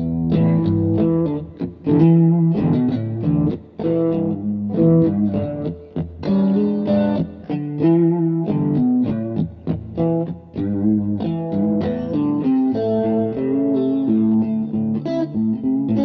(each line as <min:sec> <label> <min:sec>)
0:00.0 guitar 0:16.0